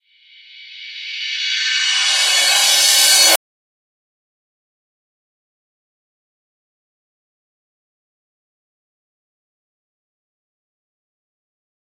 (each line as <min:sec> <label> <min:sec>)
0:00.1 Reverse Cymbals 0:03.4